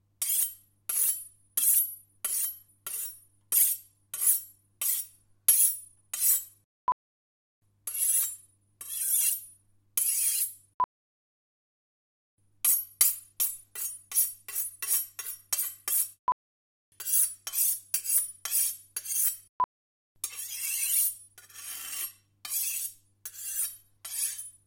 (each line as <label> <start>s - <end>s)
Sharpen Knives 0.2s - 6.6s
Sharpen Knives 7.9s - 10.6s
Sharpen Knives 12.6s - 16.2s
Sharpen Knives 17.0s - 19.5s
Sharpen Knives 20.2s - 24.6s